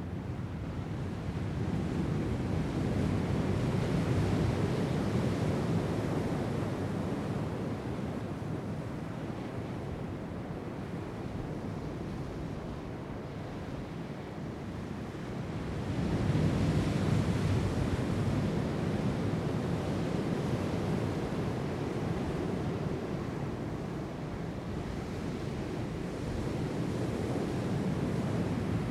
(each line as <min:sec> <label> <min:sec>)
0:00.0 Atlantic Ocean 0:28.9